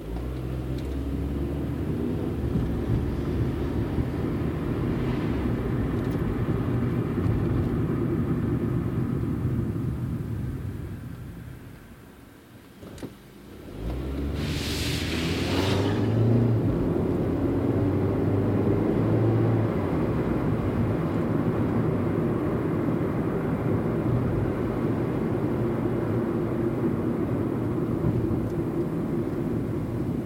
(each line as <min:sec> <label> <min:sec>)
0:00.0 Car ride 0:30.2